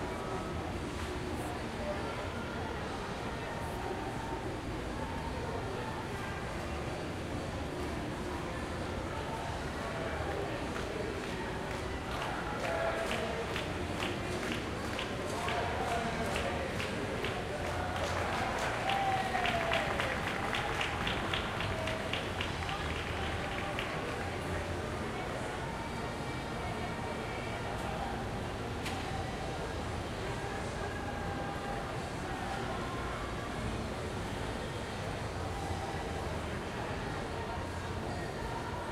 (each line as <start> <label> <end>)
0.0 crowd 38.9